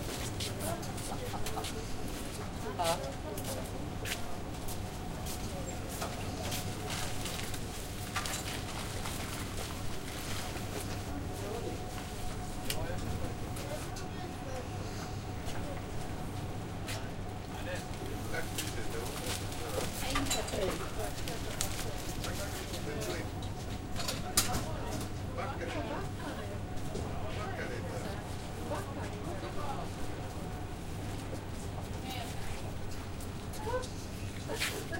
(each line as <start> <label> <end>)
0.0 people paying for food at the cashier 34.9